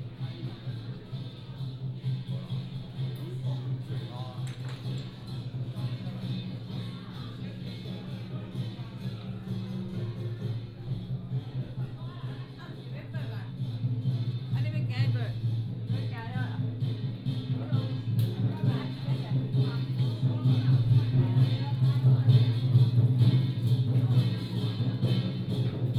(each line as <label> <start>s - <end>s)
Pilgrimage group 0.0s - 25.9s
Walking in the temple 0.0s - 25.9s